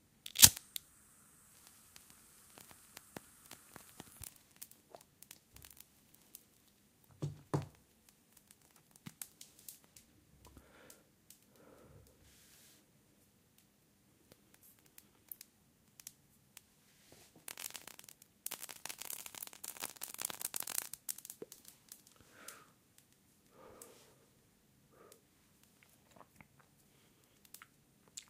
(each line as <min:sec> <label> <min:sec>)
0:00.2 smoking 0:06.5
0:17.0 smoking 0:22.7